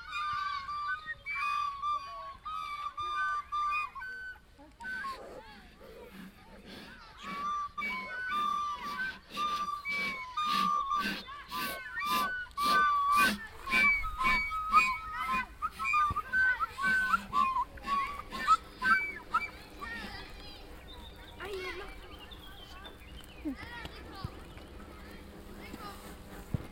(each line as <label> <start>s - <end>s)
kids rehearsing open air with different air instruments 0.0s - 26.7s